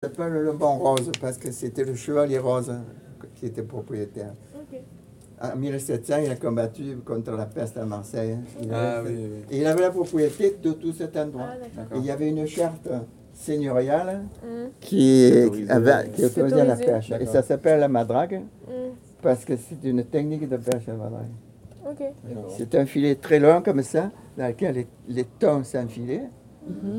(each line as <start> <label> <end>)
14.9 old man talking 18.4